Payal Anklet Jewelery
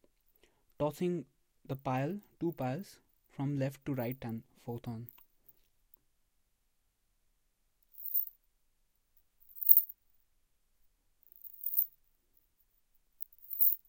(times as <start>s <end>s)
7.9s 8.4s, 9.4s 10.0s, 11.3s 12.0s, 13.2s 13.8s